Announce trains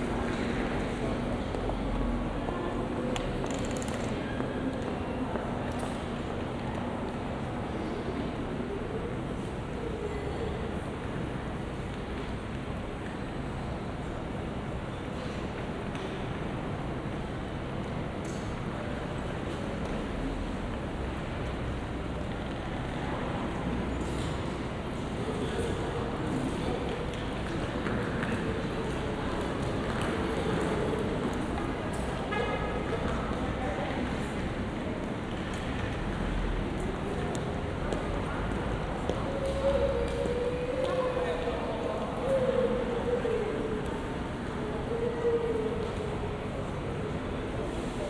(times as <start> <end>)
17.0 48.0